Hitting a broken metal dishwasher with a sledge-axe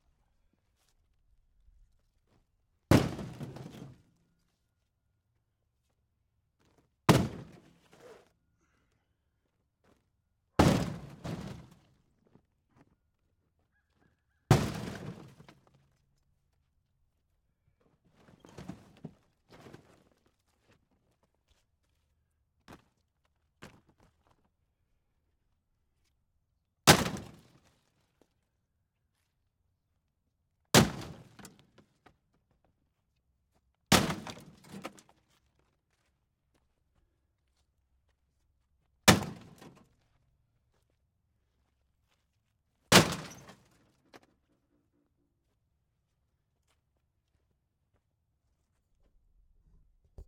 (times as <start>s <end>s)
42.9s 43.5s